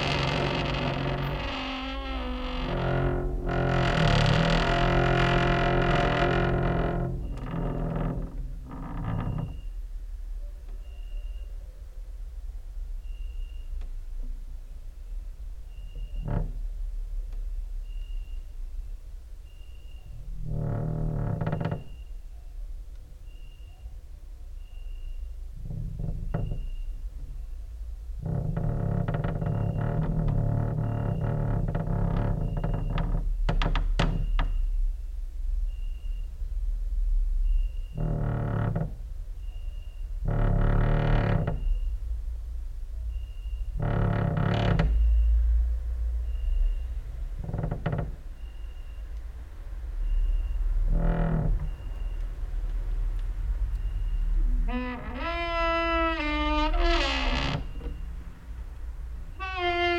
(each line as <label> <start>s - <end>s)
creaking with wooden doors 0.0s - 9.9s
creaking with wooden doors 15.7s - 16.8s
creaking with wooden doors 19.4s - 22.4s
creaking with wooden doors 24.6s - 34.8s
creaking with wooden doors 37.4s - 59.9s